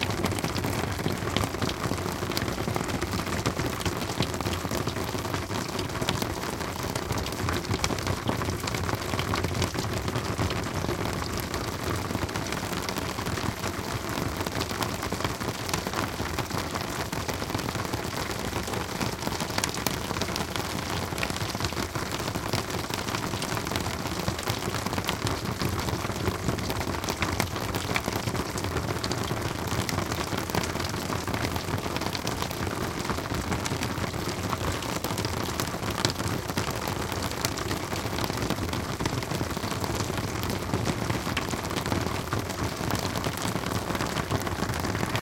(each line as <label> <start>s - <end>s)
snow melting down from a roof, falling into puddles 0.0s - 45.2s